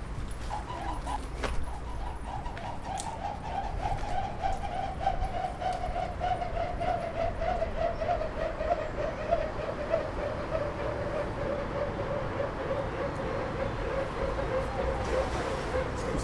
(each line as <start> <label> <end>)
11.0 river 16.2